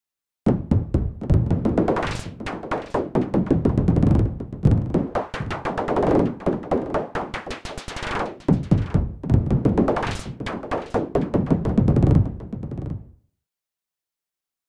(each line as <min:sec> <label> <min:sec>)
0:00.5 synthesized hard bouncing ball 0:13.2